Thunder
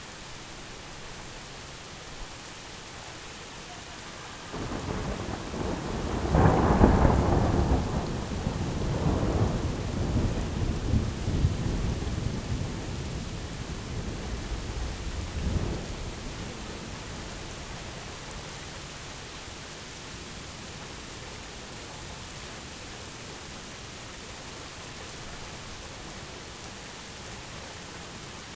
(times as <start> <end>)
4.5 17.0